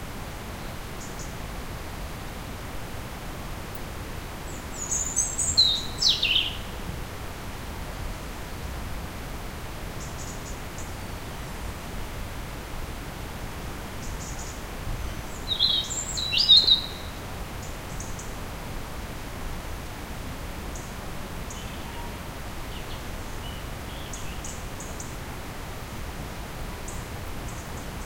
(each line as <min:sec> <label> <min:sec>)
0:00.0 river 0:28.0
0:15.1 birdsongs 0:18.3